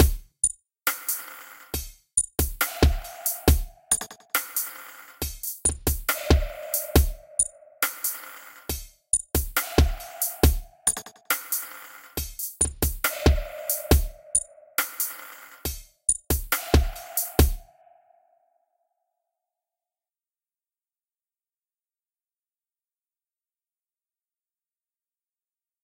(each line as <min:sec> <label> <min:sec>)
0:00.0 drums 0:17.7